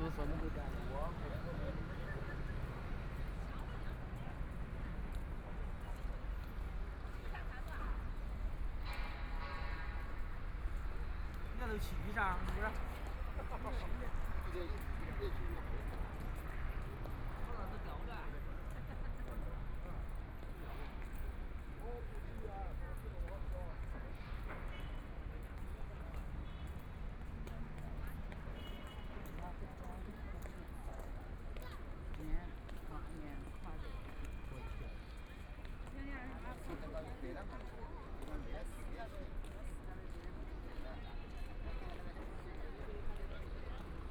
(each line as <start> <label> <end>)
0.0 Walking through the Park 44.1
0.0 traffic sound 44.1
5.4 Construction site noise 17.5